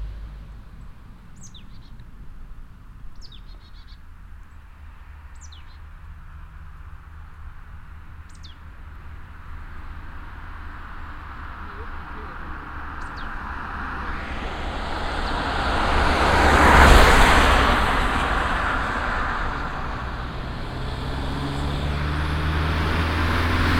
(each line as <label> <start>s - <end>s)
cars 0.0s - 23.7s